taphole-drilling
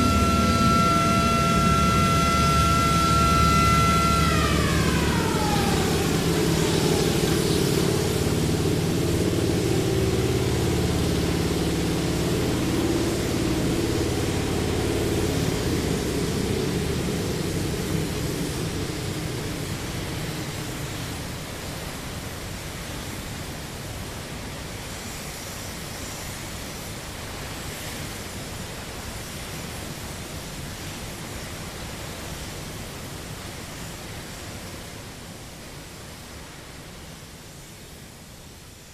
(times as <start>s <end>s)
0.0s 21.1s